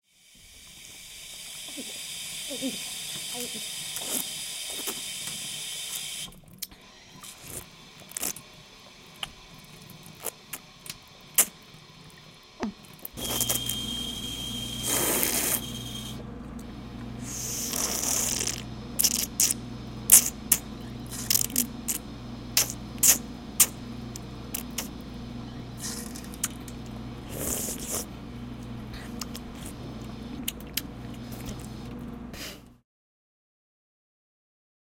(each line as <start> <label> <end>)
1.4 Human drinks from water fountain 8.4
14.8 Human drinks from water fountain 16.1
17.2 Human drinks from water fountain 22.0
22.6 Human drinks from water fountain 24.9
25.8 Human drinks from water fountain 31.7